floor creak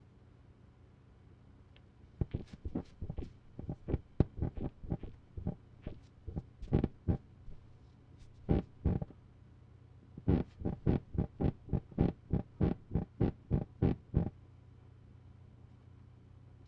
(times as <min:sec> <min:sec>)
0:02.2 0:07.2, 0:10.2 0:14.3